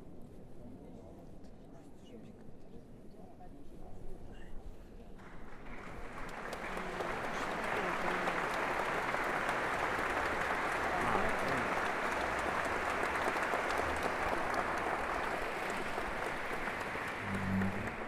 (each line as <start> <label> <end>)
17.2 Tuning before the concert 18.0